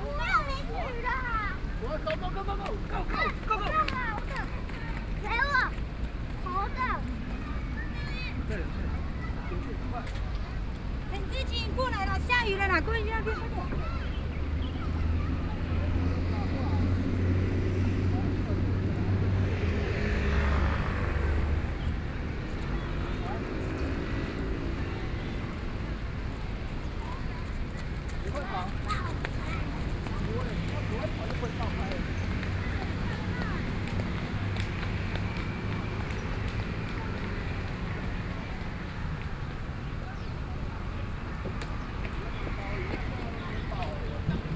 people in the park began to leave 0:00.0 - 0:44.5

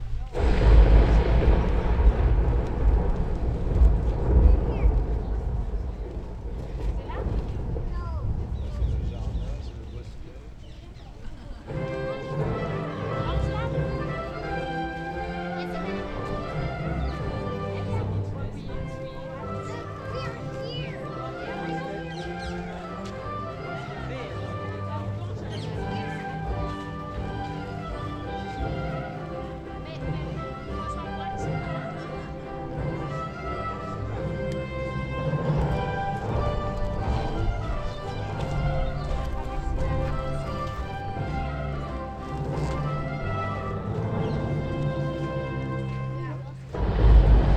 Tourists 0:00.0 - 0:47.5
Music playing in one of the groves 0:11.5 - 0:47.5

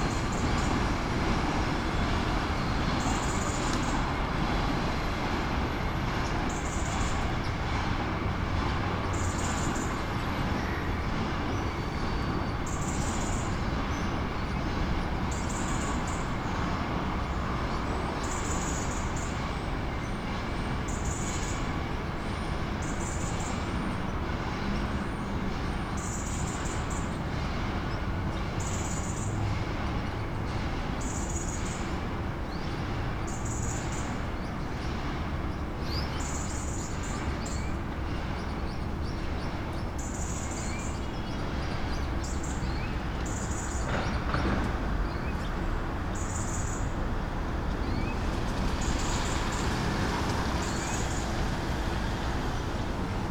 heavy traffic 0:00.0 - 0:53.3
train passing 0:00.0 - 0:53.3
caged birds 0:00.1 - 0:19.5
caged birds 0:20.7 - 0:53.3

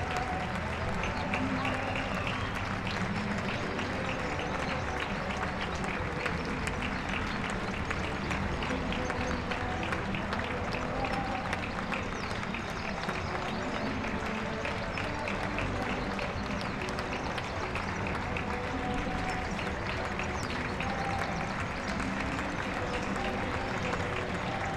applause 0:00.0 - 0:24.7

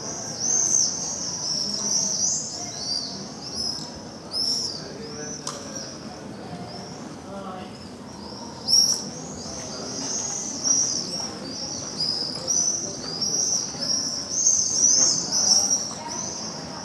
people 0:00.0 - 0:16.8
birds 0:00.1 - 0:16.8

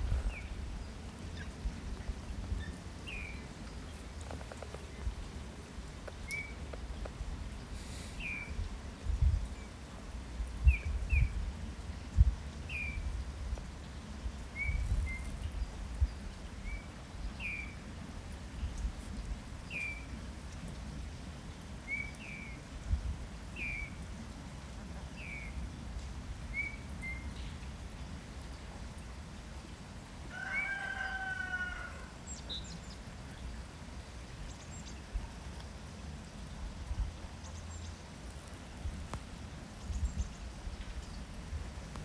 Rooster 0:30.3 - 0:32.2

